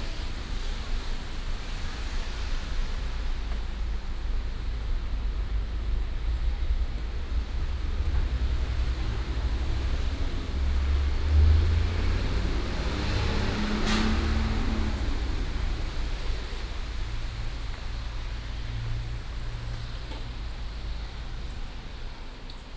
Traffic sound 0:00.0 - 0:22.7
Walking in the rain on the road 0:00.0 - 0:22.7

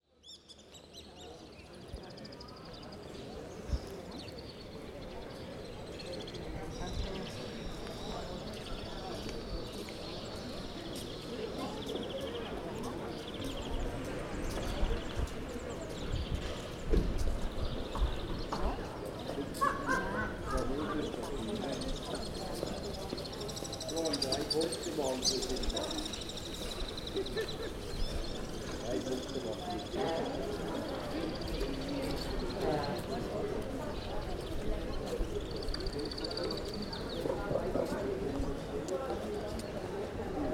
People are chatting 0:00.2 - 0:40.5

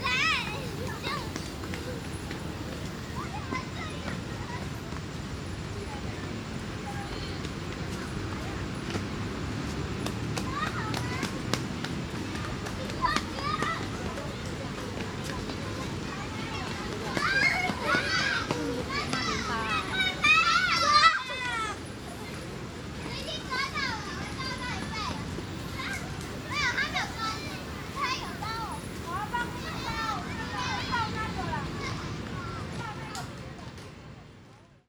Children 0:00.0 - 0:04.4
Children 0:10.3 - 0:22.3
Children 0:22.9 - 0:33.4

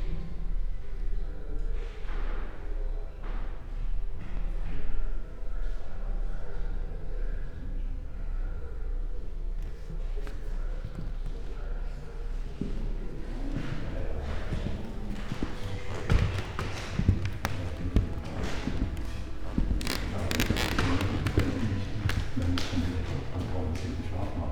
walking 0:10.2 - 0:24.5

